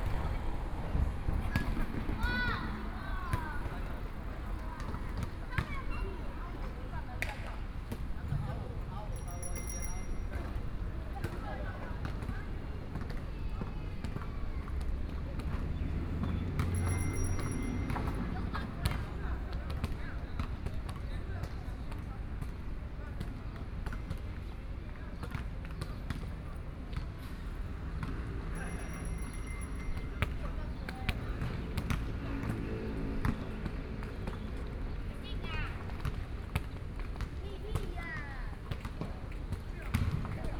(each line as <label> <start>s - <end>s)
The pedestrian 0.0s - 6.4s
Traffic Sound 0.0s - 7.8s
Play basketball 0.0s - 24.5s
Traffic Sound 9.1s - 20.2s
The pedestrian 15.5s - 19.5s
Play basketball 25.2s - 40.5s
Traffic Sound 27.1s - 40.5s
The pedestrian 28.1s - 36.0s